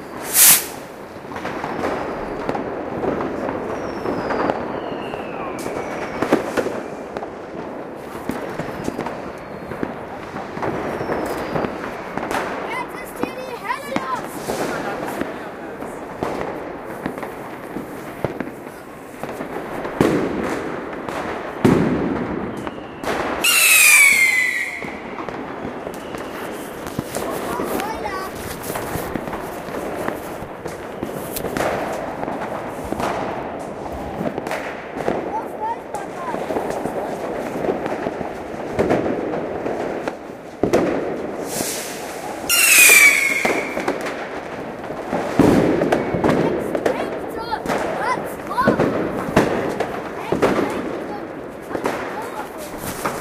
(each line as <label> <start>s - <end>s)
child sets off sparklers 0.0s - 53.2s